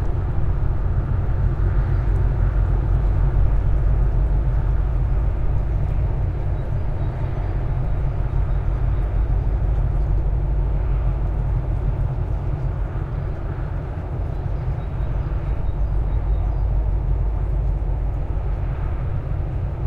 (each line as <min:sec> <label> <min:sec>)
0:00.0 hum of the engine 0:19.8
0:00.0 waves 0:19.8